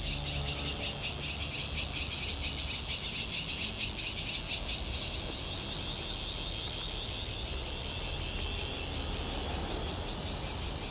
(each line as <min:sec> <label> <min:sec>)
0:00.0 Cicada sounds 0:10.9